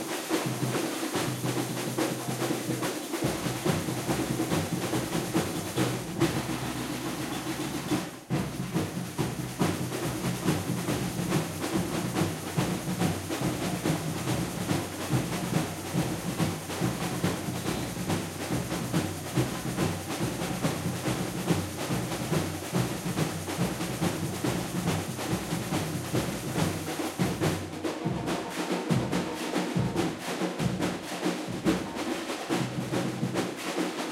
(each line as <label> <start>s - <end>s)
caixa 0.0s - 34.1s